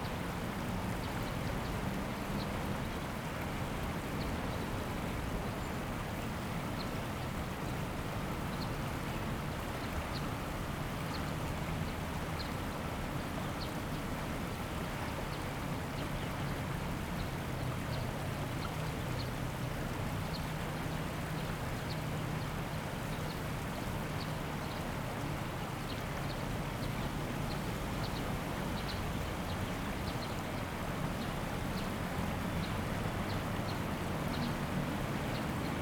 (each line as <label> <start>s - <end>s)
Stream sound 0.0s - 35.8s